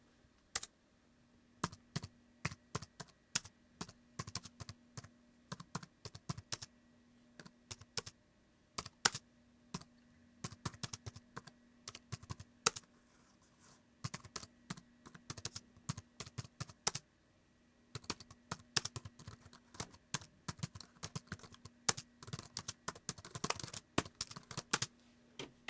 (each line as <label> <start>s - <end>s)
Typing on a laptop 0.5s - 0.7s
Typing on a laptop 1.6s - 6.7s
Typing on a laptop 7.4s - 8.2s
Typing on a laptop 8.8s - 12.9s
Typing on a laptop 14.0s - 17.0s
Typing on a laptop 17.9s - 24.9s